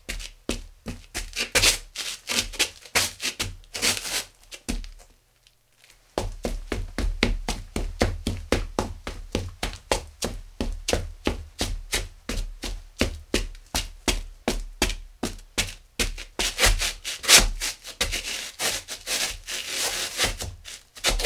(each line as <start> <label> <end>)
14.9 Footsteps 21.2